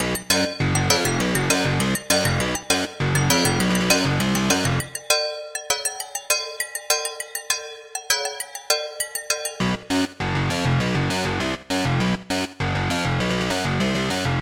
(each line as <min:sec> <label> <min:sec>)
0:00.0 bass 0:05.1
0:09.3 bass 0:14.4